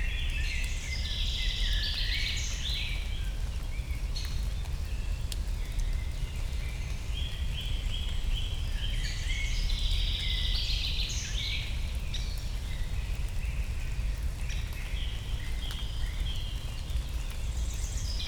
light rain 0.0 - 18.2

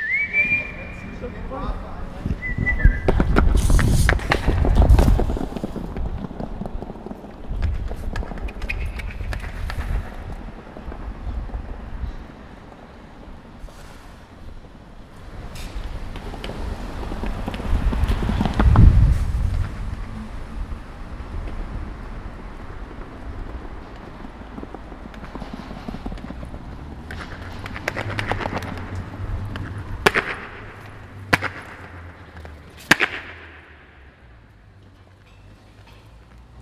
Workers provide barriers 0.0 - 11.4
roll and stitch two girls on their roller skates 0.3 - 36.6
Workers provide barriers 22.9 - 36.6

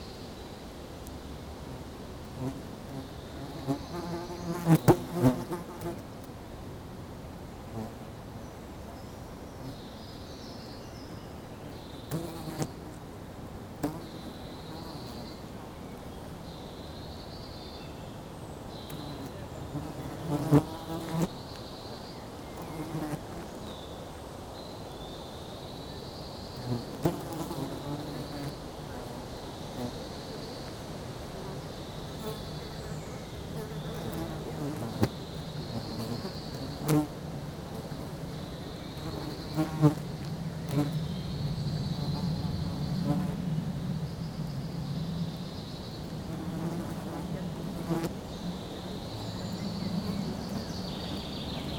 flies 0.0 - 6.4
motorway far distant noise 5.9 - 51.7
flies 7.6 - 51.7
wind in the trees 27.6 - 51.7

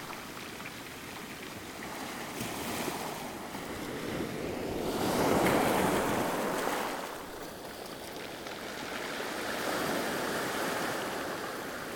Waves are big and strong 1.7 - 11.9
Shingle are rolling every wave 3.6 - 7.8

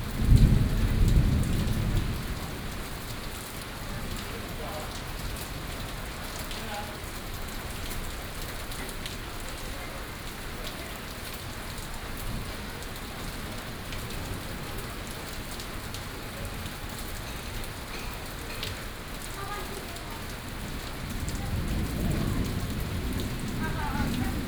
Thunderstorms 0.0 - 6.6
Thunderstorms 20.4 - 24.4

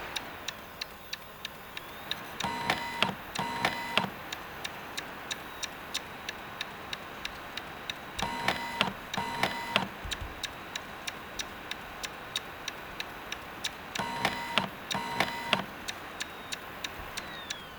cd drive tries to read a different cd 0.0 - 17.7

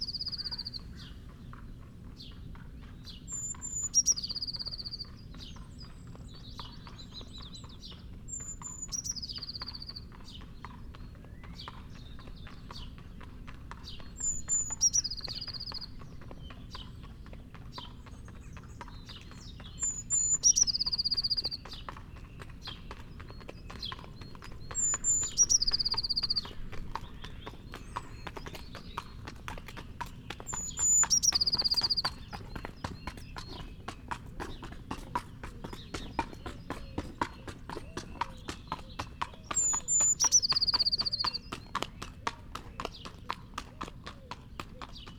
singing blue tit 0.0 - 1.2
blackbird 0.0 - 45.1
passing horse 0.0 - 45.1
pheasant 0.0 - 45.1
singing blue tit 2.2 - 13.2
singing blue tit 13.8 - 17.2
singing blue tit 17.9 - 41.8
song thrush 18.3 - 22.8
song thrush 24.5 - 33.9
song thrush 37.8 - 41.6
singing blue tit 44.4 - 45.1

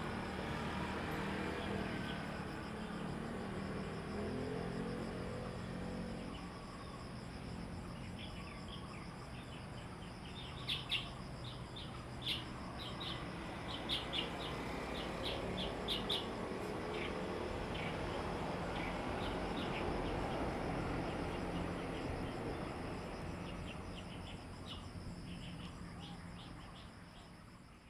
Traffic Sound 0.0 - 26.9
Birdsong 8.0 - 22.8

